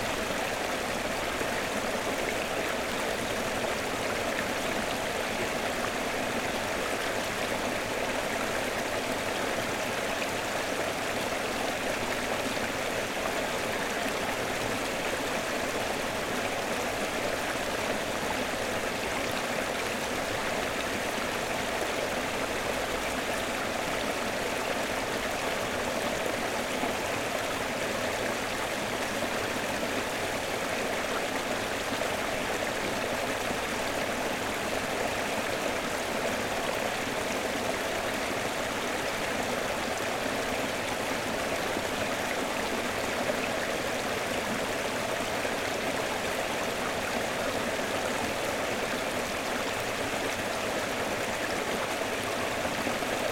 stream 0.0 - 53.3

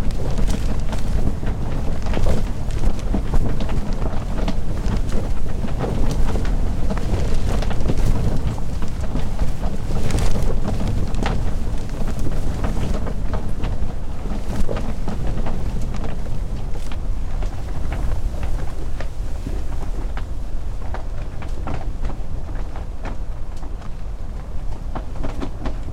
Yurt tent X sea wind 0.0 - 25.9

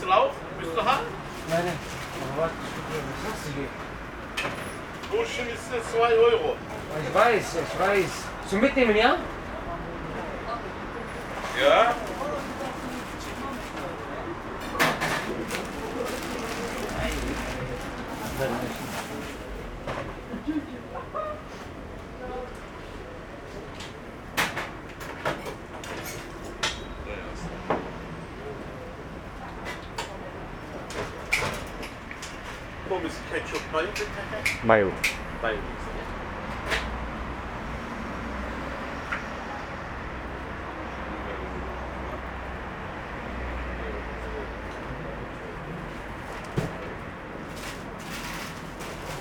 conversation between staff member and guest 0.0 - 23.1
conversation between staff member and guest 26.9 - 37.2

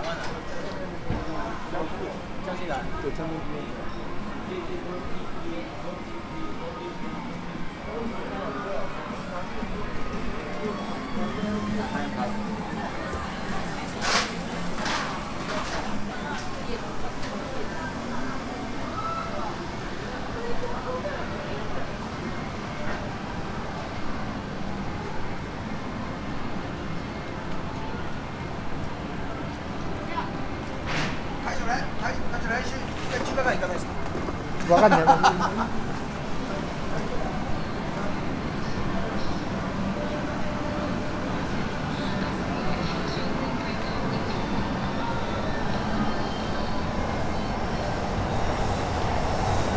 roaring trains 0.0 - 49.7

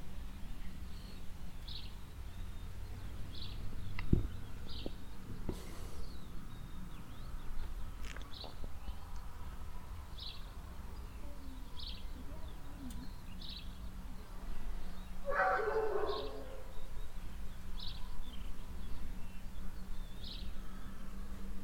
birds 0.1 - 21.6
boy with a dog 10.0 - 17.1
distant dog barking 15.2 - 16.7

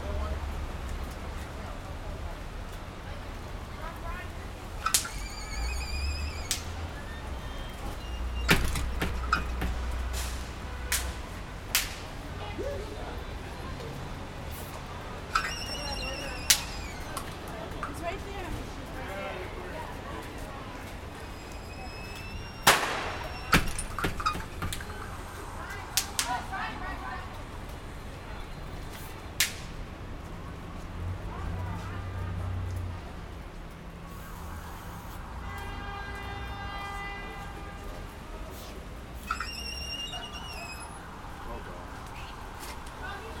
Street sounds 0.0 - 43.4
kids throwing bang snaps in the street 4.0 - 12.6
kids throwing bang snaps in the street 15.7 - 19.0
kids throwing bang snaps in the street 20.2 - 27.8
kids throwing bang snaps in the street 28.8 - 30.4

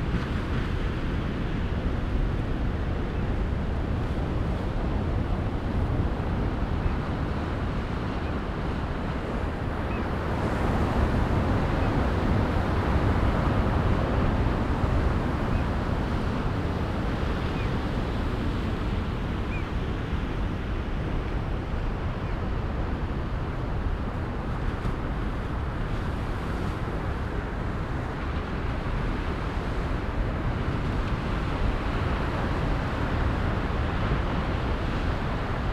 Roar of large waves breaking on the beach 0.0 - 35.7

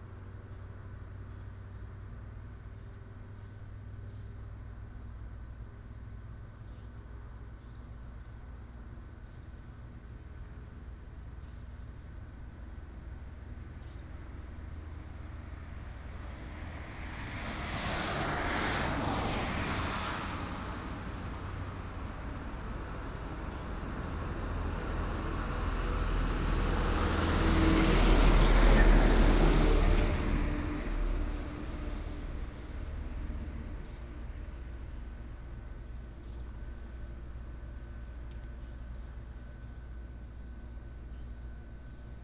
Traffic sound 9.3 - 42.2

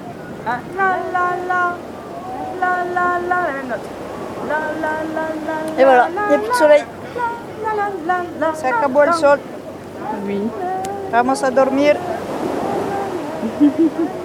bikini babes chant sur la plage 4.4 - 9.4

